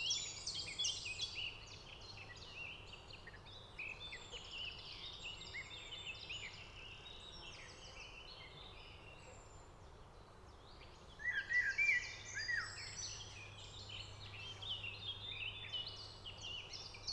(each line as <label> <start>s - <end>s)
Song Thrush 0.0s - 17.1s
Blackbird 10.6s - 17.1s